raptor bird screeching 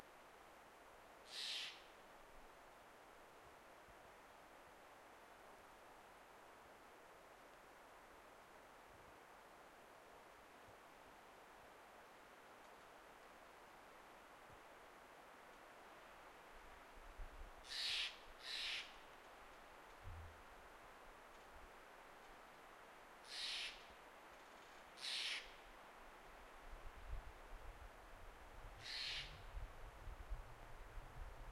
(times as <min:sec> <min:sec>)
0:17.7 0:18.9, 0:23.3 0:23.8, 0:25.0 0:25.5, 0:28.8 0:29.3